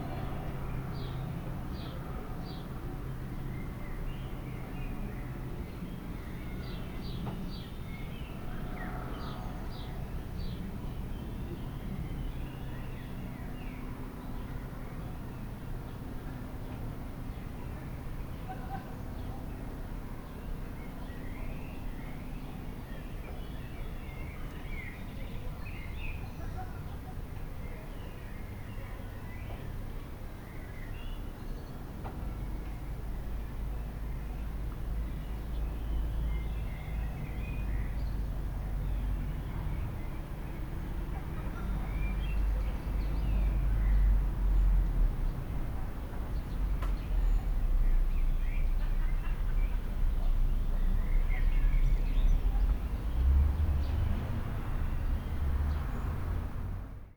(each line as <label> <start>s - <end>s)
cars 36.3s - 57.1s